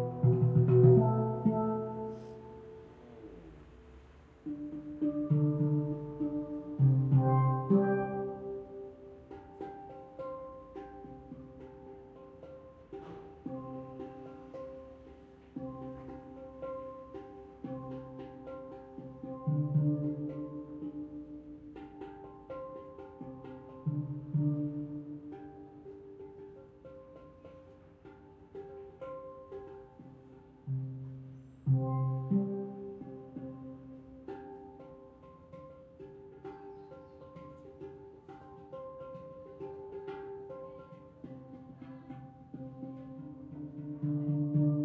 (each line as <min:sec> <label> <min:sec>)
0:00.0 Steel Drums 0:44.8
0:00.0 outside noise 0:44.8